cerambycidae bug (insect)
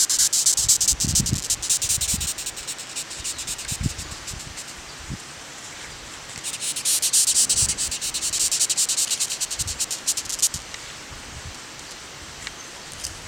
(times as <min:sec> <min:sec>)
0:00.0 0:05.0, 0:06.2 0:10.8